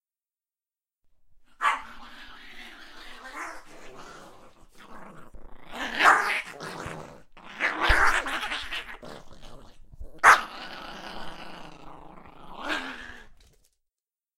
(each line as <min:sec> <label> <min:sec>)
0:01.6 dog attack 0:02.2
0:05.7 dog attack 0:09.1
0:10.0 dog attack 0:10.6